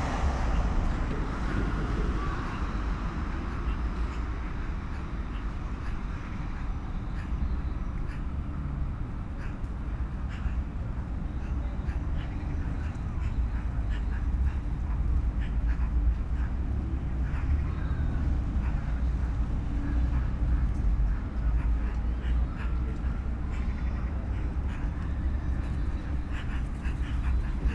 1.4s 10 magpies in a tree 27.7s

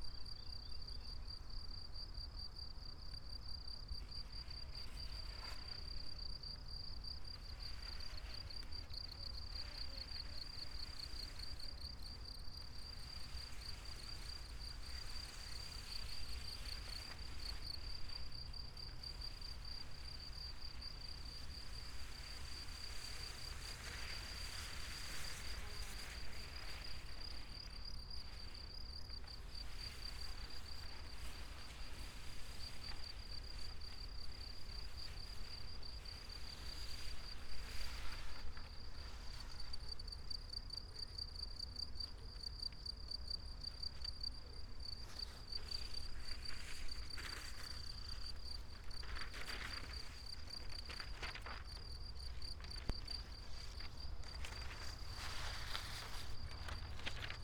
0.0s crickets 57.4s
3.7s wind through paper and grass ears 40.9s
42.3s wind through paper and grass ears 57.4s
45.0s walk with two long strips of thin paper 57.4s

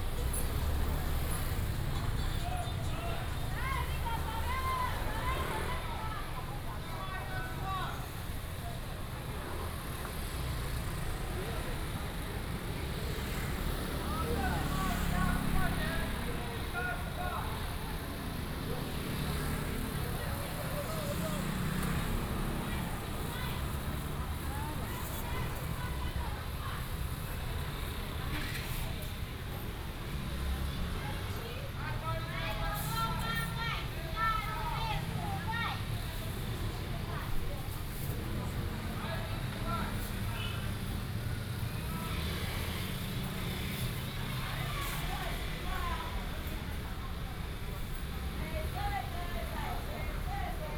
8.1s motorcycle 32.3s
35.0s motorcycle 50.7s

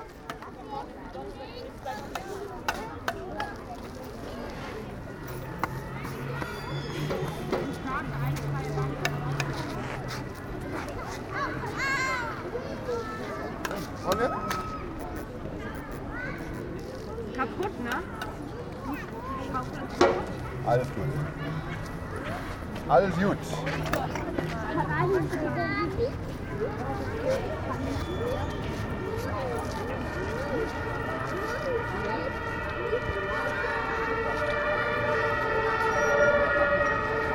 0.0s Children playing 37.3s

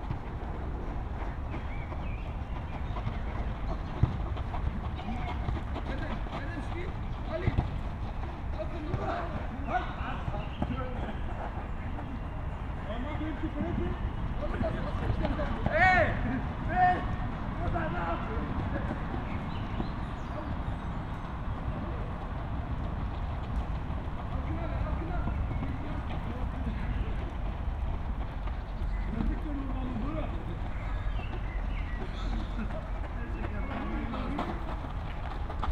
0.0s youngsters playing 35.7s

